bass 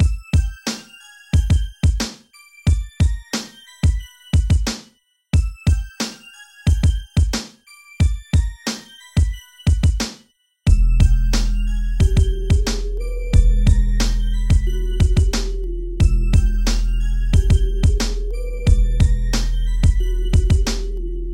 0:10.7 0:21.3

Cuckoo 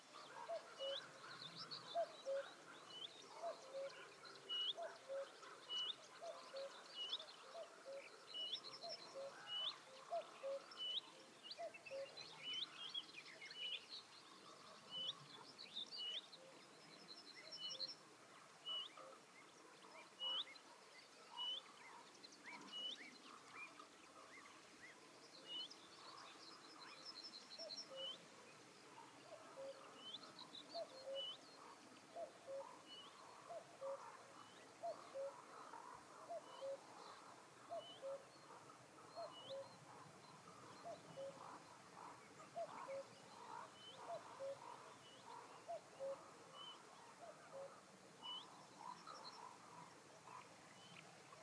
0:00.0 0:12.4, 0:30.8 0:34.1, 0:34.8 0:35.5, 0:36.3 0:36.9, 0:37.7 0:39.9, 0:40.7 0:49.5

